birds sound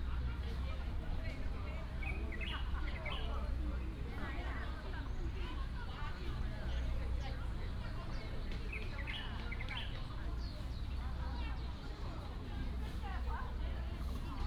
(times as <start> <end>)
8.6 11.0